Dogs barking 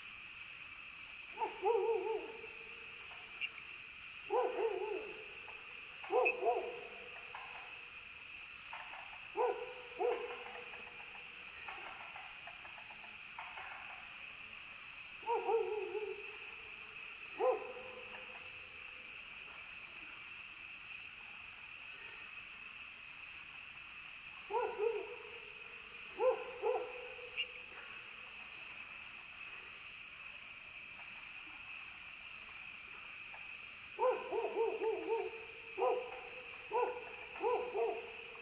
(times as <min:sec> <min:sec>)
0:01.4 0:02.5, 0:04.3 0:05.4, 0:06.0 0:07.2, 0:09.4 0:10.7, 0:15.2 0:16.3, 0:17.4 0:18.2, 0:24.5 0:25.4, 0:26.2 0:27.3, 0:34.0 0:38.4